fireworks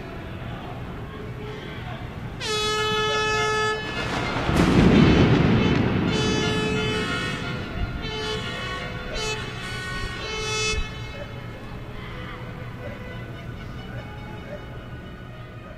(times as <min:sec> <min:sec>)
0:03.7 0:09.9